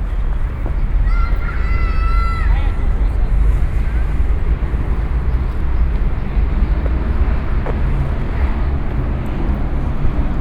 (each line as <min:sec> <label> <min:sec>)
0:00.0 busses all around 0:10.4
0:01.0 Children playing 0:03.2